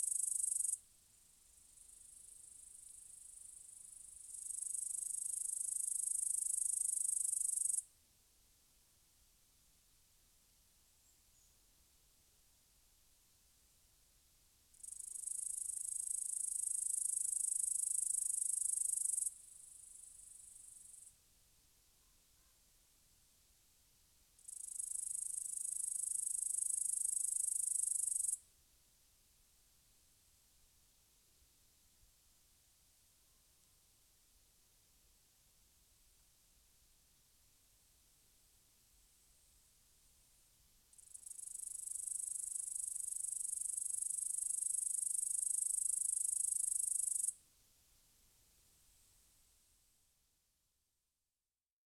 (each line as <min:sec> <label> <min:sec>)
0:41.0 grasshoppers 0:47.3